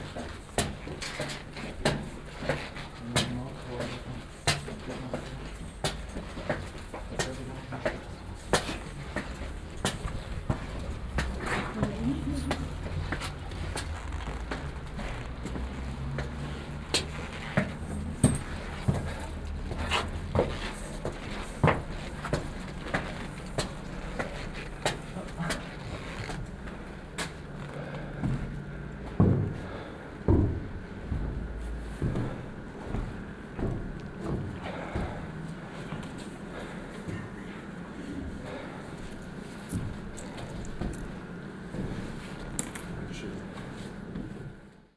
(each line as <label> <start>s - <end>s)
squeaking leather jacket 13.0s - 15.9s